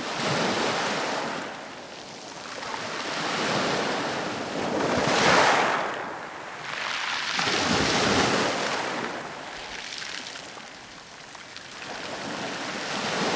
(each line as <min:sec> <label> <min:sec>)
0:01.0 waves fizzing and then trickling through the pebbles 0:13.3